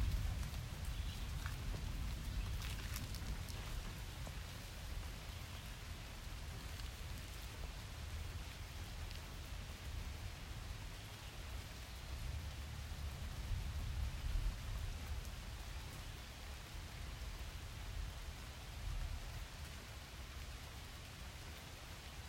0.0s nature 22.2s
2.4s twig crack in middle 3.9s

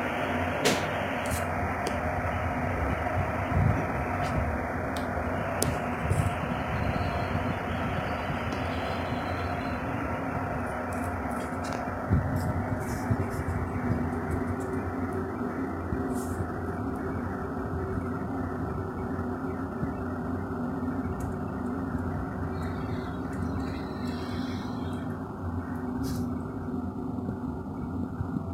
0.0s Boiling water kettle 28.5s

